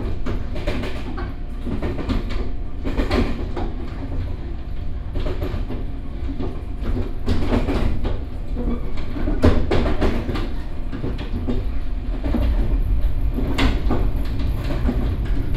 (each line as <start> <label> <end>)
0.0 the train 15.5